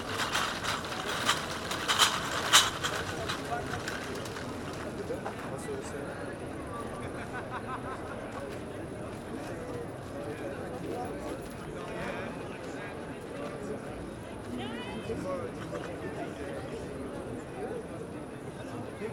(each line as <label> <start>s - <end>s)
shopping trolly to collect bottles 0.0s - 5.5s
Many people in the park sitting in darkness 0.0s - 19.1s